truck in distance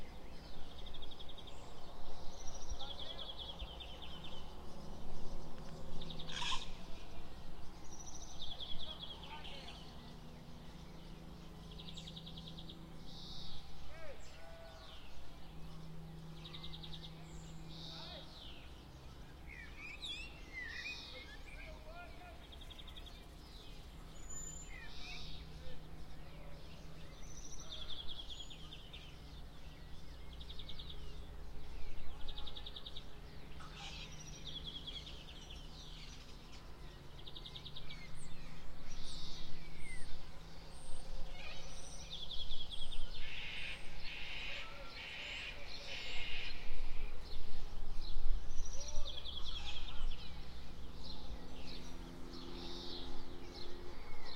0:48.7 0:54.3

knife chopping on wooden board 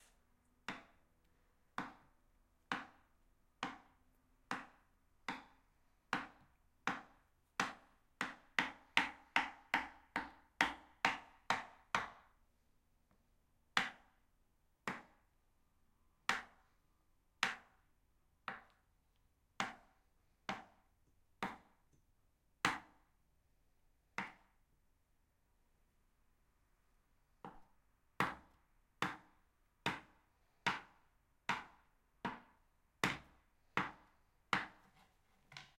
0:31.5 0:35.7

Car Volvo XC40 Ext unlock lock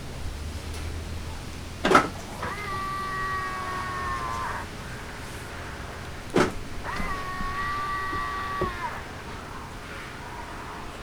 0:01.8 0:02.6

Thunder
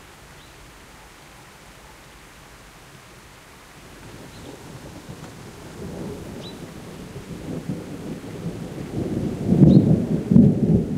0:04.0 0:10.9

